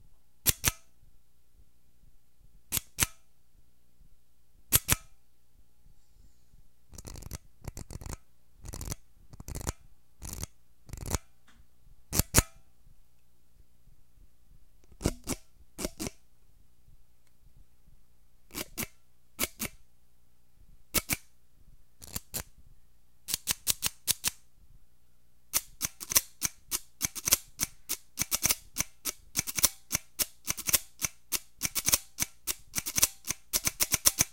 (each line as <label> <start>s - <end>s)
tool used to make balls of ice cream 6.9s - 11.3s
tool used to make balls of ice cream 18.5s - 19.7s
tool used to make balls of ice cream 22.0s - 22.5s
tool used to make balls of ice cream 25.5s - 34.3s